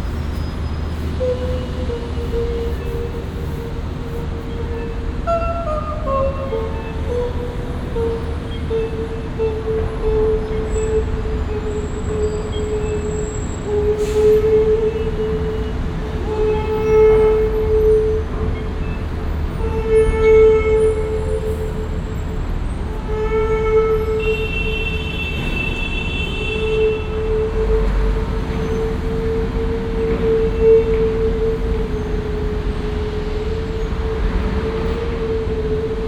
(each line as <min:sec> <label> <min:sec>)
0:00.0 street sound 0:36.0